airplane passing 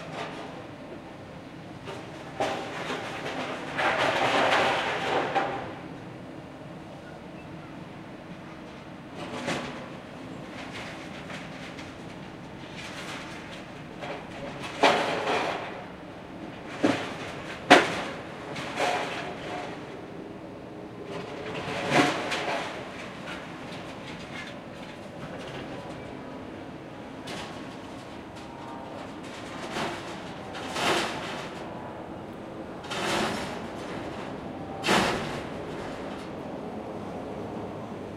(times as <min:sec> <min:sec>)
0:28.4 0:38.1